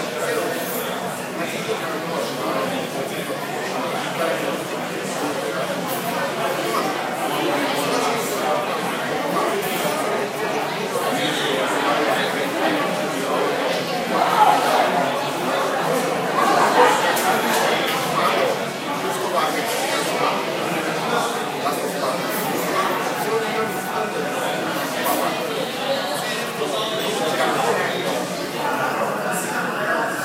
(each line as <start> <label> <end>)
0.0 chatter 30.2